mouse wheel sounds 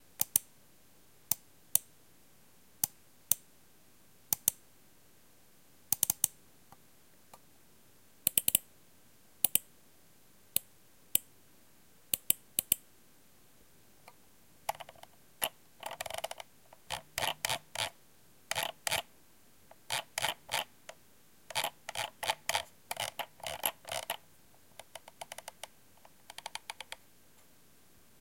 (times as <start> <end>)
14.7 19.1, 19.7 20.7, 21.5 24.2, 24.8 27.0